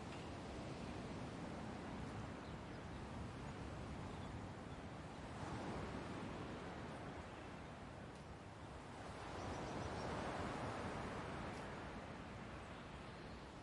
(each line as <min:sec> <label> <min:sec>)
0:00.0 waves 0:13.6